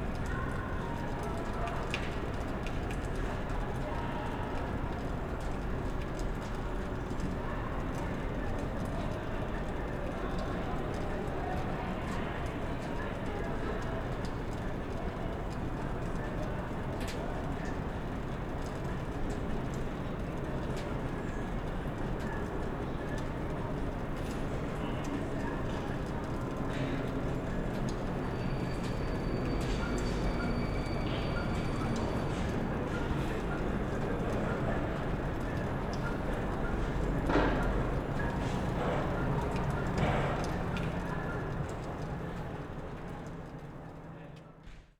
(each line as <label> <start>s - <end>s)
echo of trains 7.6s - 44.8s
city sounds 8.3s - 44.5s
voices 20.3s - 44.4s